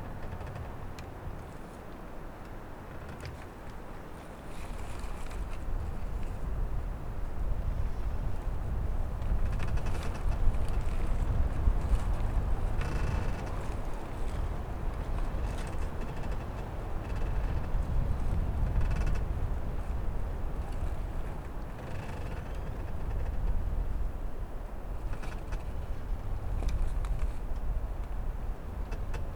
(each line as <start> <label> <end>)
0.0 wind play in the brokem hut 29.3